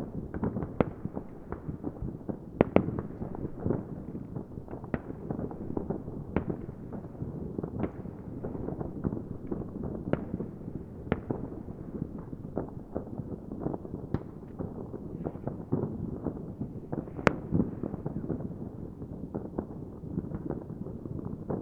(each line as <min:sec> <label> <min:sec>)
0:00.0 fireworks 0:21.6